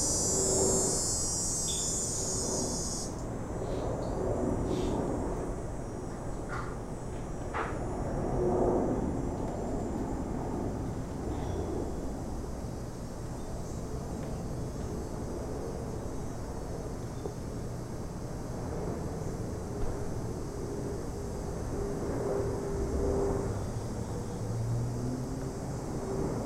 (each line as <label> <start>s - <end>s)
arriving flights 0.0s - 26.4s
cicada 0.0s - 26.4s